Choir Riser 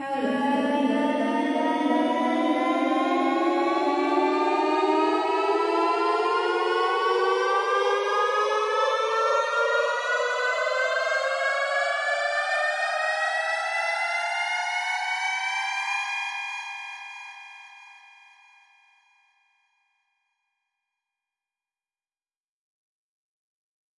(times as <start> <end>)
0.0 12.0